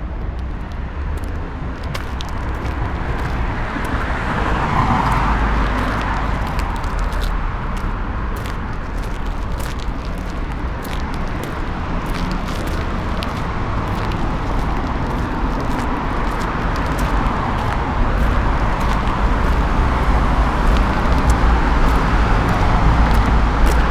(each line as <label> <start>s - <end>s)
walking 0.0s - 23.9s